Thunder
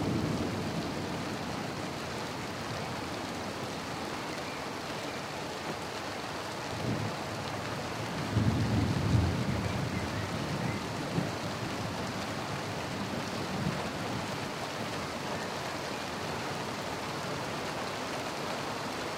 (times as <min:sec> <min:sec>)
0:08.3 0:11.4